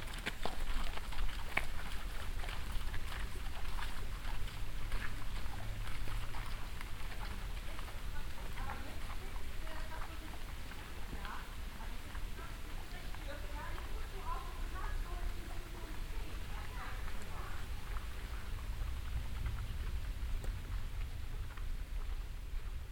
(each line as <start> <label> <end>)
0.0 horse riders passing by on a path in the woods 22.9